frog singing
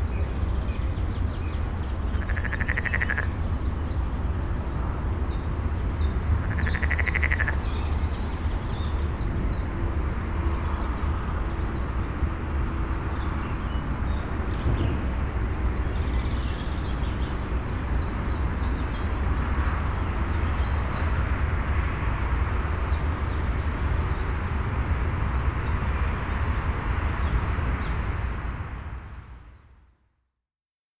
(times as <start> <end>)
2.1 3.4, 6.4 7.6